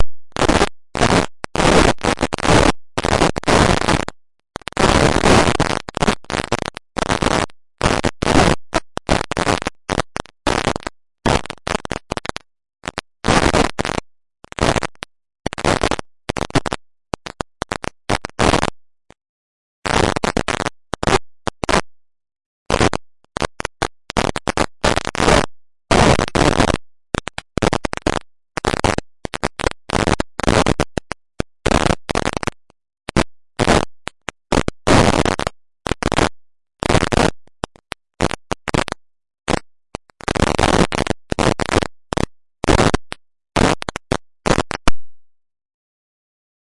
44.5s Snare 45.2s

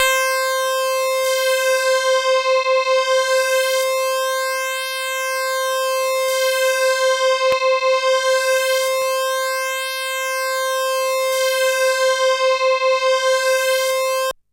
0.0s synth 14.3s

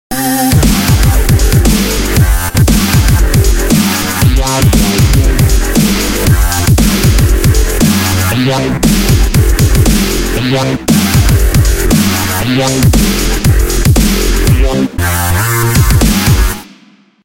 0.1s bass 16.8s
0.1s synth 16.6s
0.5s hat 14.8s
0.6s snare 7.2s
7.8s snare 9.2s
11.9s snare 13.4s

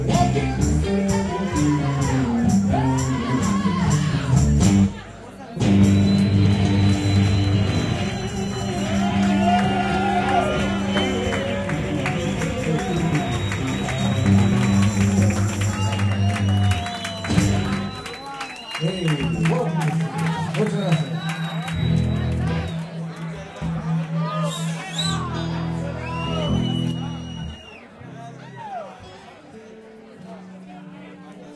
8.9s hand clapping 24.2s

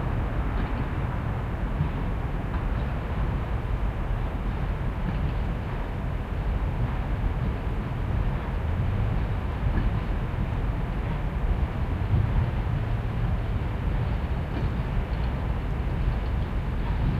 0.0s Steam locomotive running at a distance, puffing 17.1s

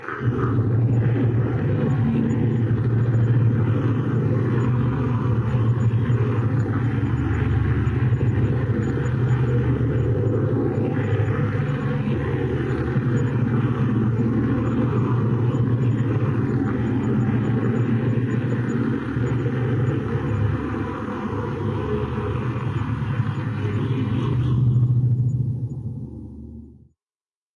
0.0s drone sound 27.0s

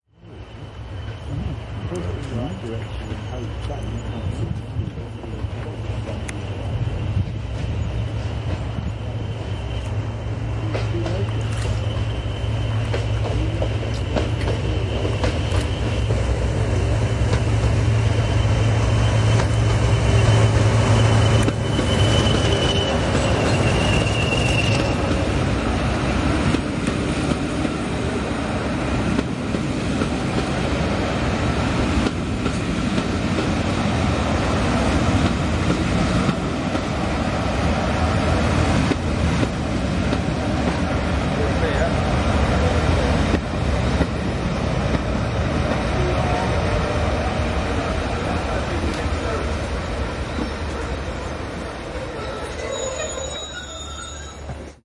0.1s two vintage British diesel locos pulling a 13 carriage train 54.8s
1.0s wind noise 2.3s
6.2s wind noise 9.0s

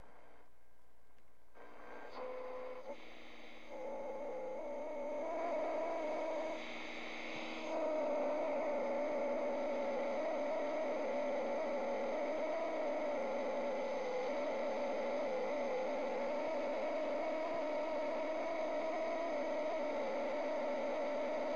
1.6s radio makes sounds 3.8s

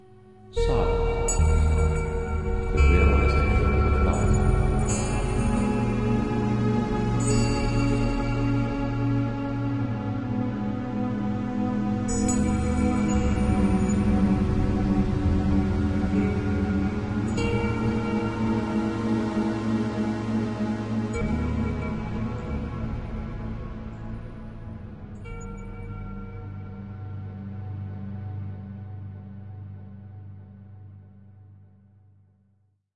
0.5s strings 29.1s
0.6s synthetic bells 6.2s

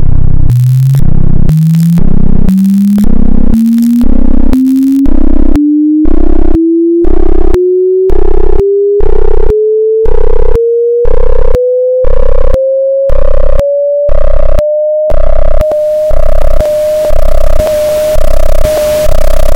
0.4s sounds generated by frequencies, going crescendo 9.5s
15.7s white noise 19.5s

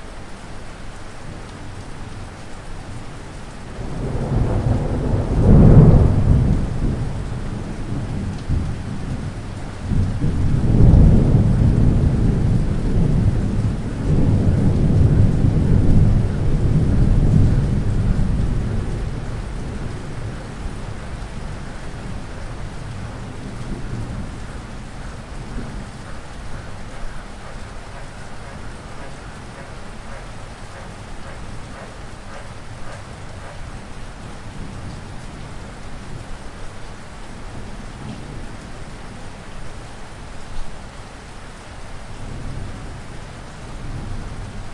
0.0s Rain 44.7s
3.8s Thunder 33.6s
27.0s frog 33.6s

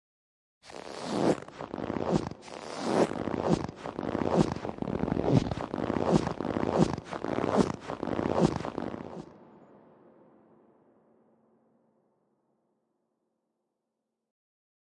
0.7s Crunchy footsteps in fresh snow 9.2s

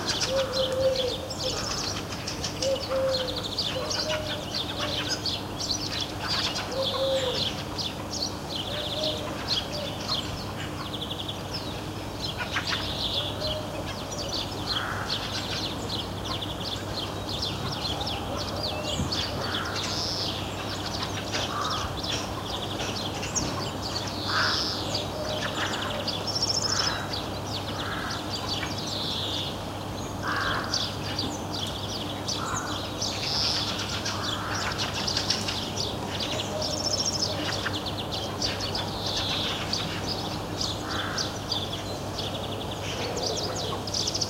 0.0s collared doves 29.1s
0.0s greenfinches 44.2s
14.6s hooded crows 15.8s
17.5s hooded crows 20.0s
21.0s hooded crows 22.4s
24.2s hooded crows 28.6s
30.2s hooded crows 31.2s
32.0s collared doves 44.2s
32.4s hooded crows 33.0s
40.8s hooded crows 41.5s

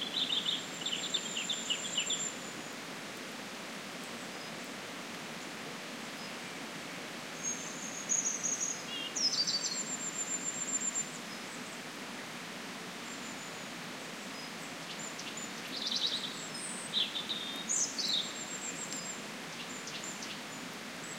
0.0s birds singing 2.6s
0.0s wind on trees 21.1s
7.4s birds singing 11.5s
14.4s birds singing 21.1s

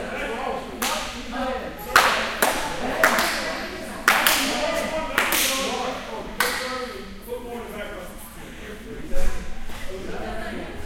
0.0s Volleyball Game 7.3s

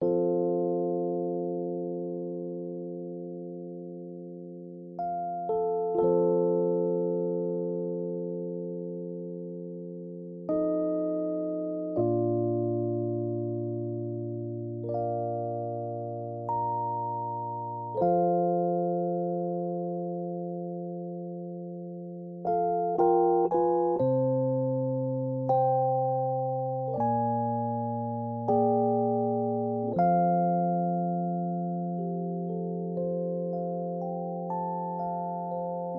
0.0s Rhodes 35.9s

